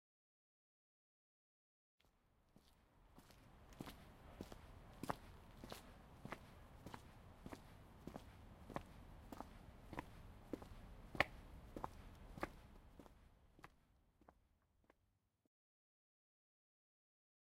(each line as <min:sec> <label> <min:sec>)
0:02.0 Walking on a street 0:15.0